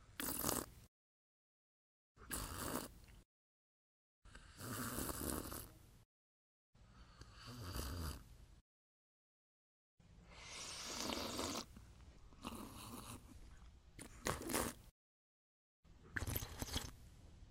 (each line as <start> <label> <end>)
16.1 Sipping liquid out of a mug 17.0